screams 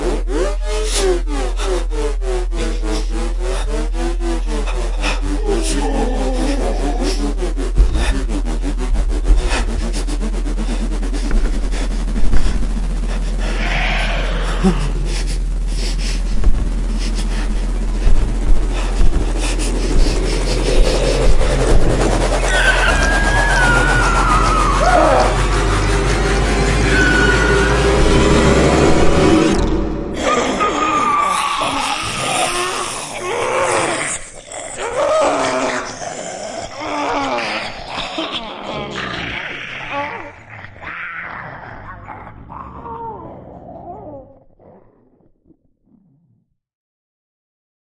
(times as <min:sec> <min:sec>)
0:13.5 0:14.9, 0:20.8 0:28.7, 0:30.2 0:34.2